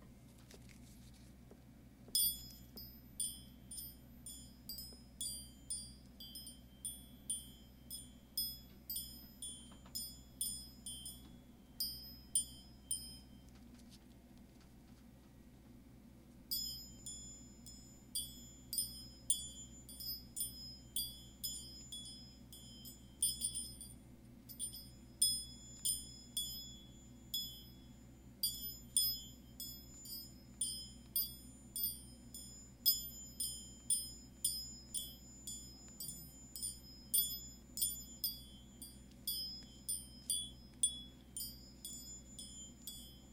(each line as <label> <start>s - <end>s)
Gold Rings 2.1s - 13.9s
Gold Rings 16.5s - 43.3s